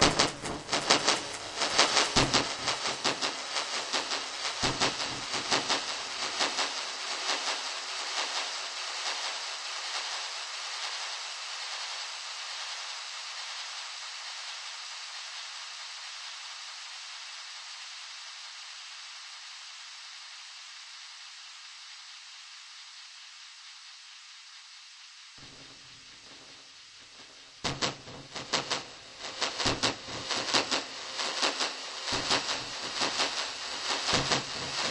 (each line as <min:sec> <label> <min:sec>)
0:00.0 dub drums 006 spacefill delayz 0:10.7
0:25.4 dub drums 006 spacefill delayz 0:34.9